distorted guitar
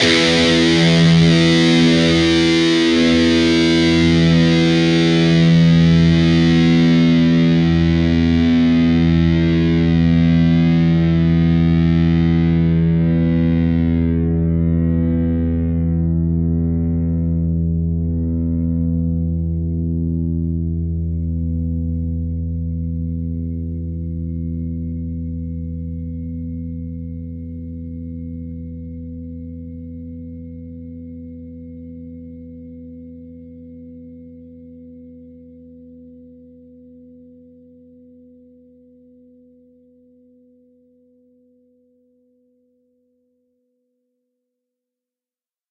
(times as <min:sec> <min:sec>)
0:00.0 0:31.7